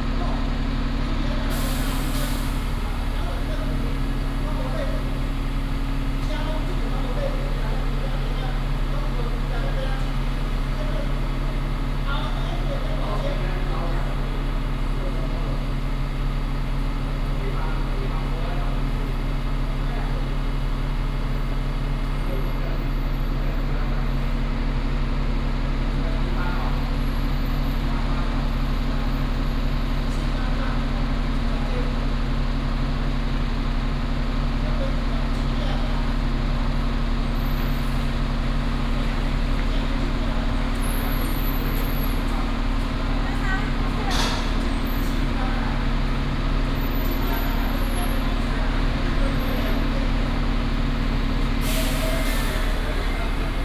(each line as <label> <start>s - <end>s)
traffic sound 36.1s - 53.6s